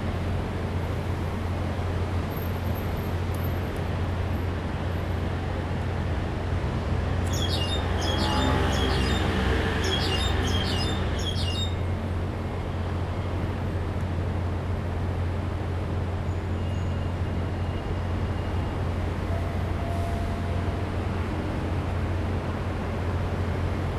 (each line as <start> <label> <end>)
7.3 birds 11.9